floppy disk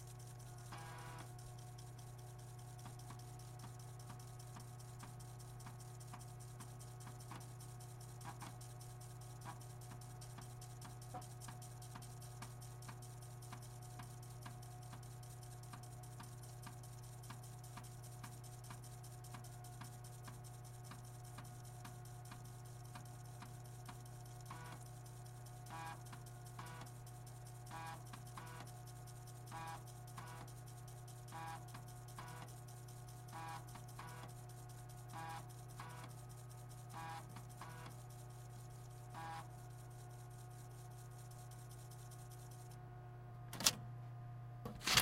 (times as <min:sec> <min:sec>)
0:43.5 0:43.8, 0:44.6 0:45.0